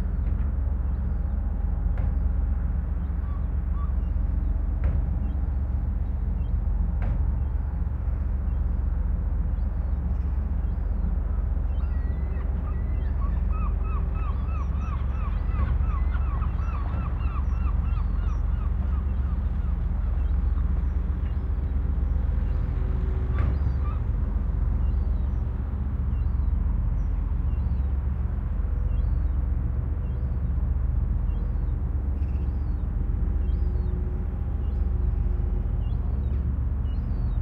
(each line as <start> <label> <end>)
0.0 sea 37.4
11.7 seagulls 21.4
23.3 seagulls 24.2